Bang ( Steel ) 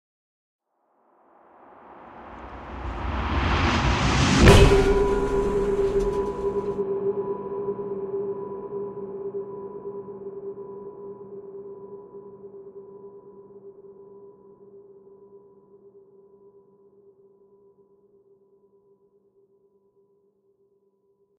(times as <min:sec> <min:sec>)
0:02.2 0:06.8